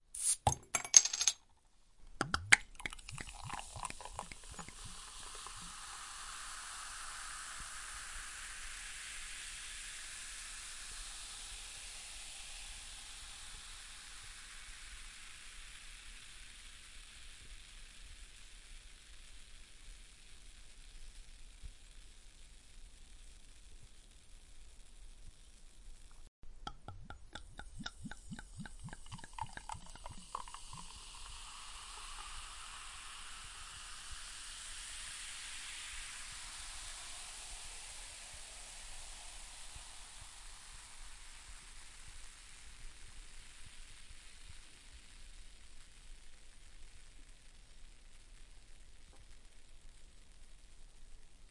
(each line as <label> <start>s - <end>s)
fizz 0.0s - 0.5s
Opening a glass bottle of carbonated soda pop 0.1s - 1.4s
Opening a glass bottle of carbonated soda pop 2.2s - 6.3s
pouring it in a glass 2.2s - 18.9s
fizz 2.2s - 51.5s
Opening a glass bottle of carbonated soda pop 26.7s - 34.6s
pouring it in a glass 26.7s - 45.0s